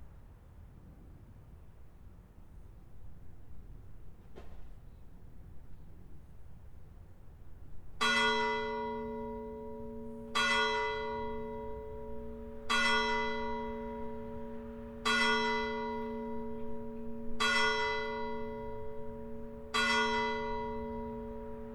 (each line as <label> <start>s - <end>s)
Passage of the train 1.4s - 21.7s
Time signal from the bell tower 8.0s - 21.7s